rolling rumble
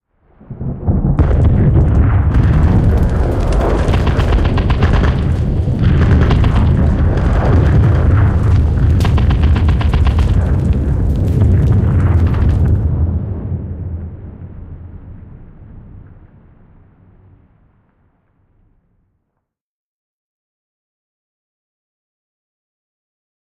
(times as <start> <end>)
0.5 18.1